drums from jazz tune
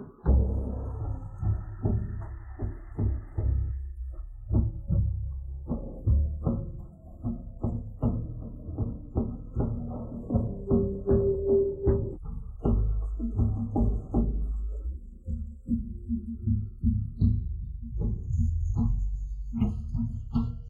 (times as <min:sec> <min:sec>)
0:07.6 0:14.5